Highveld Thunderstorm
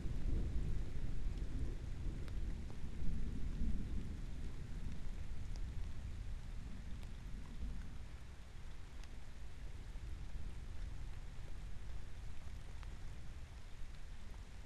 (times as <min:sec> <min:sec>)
0:00.0 0:08.0